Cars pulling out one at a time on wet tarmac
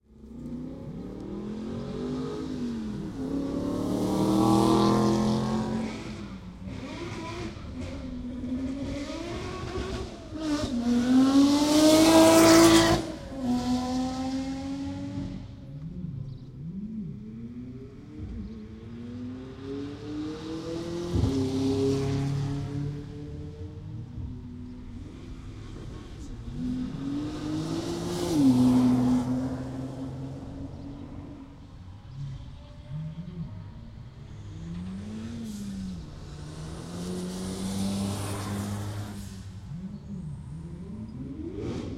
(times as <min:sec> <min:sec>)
0:34.8 0:39.8